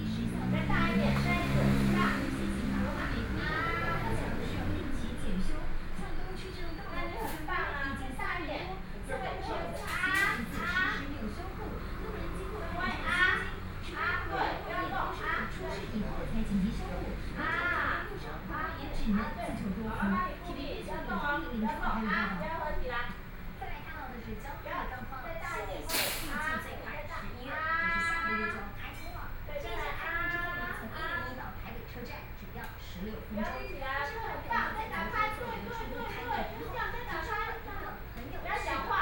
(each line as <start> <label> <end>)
0.0 Physicians and the public dialogue 39.0
0.0 TV sound 39.0